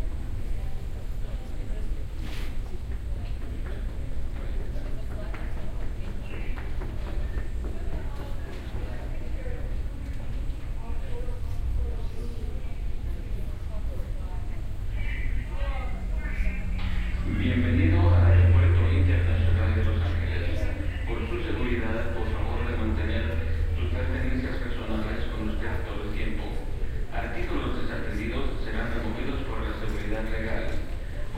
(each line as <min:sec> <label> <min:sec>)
0:12.8 announcement 0:31.3